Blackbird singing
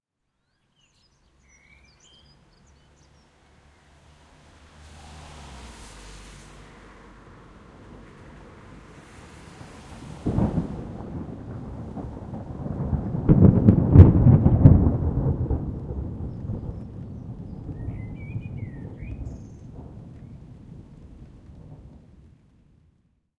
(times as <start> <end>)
0.4 3.3, 17.7 19.7